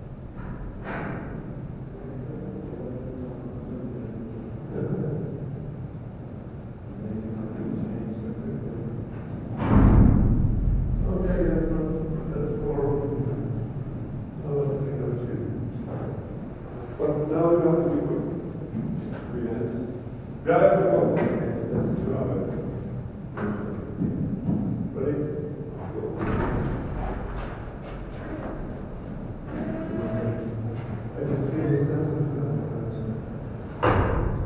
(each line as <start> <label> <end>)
33.2 Doors to all three seed vaults closing and opening 34.4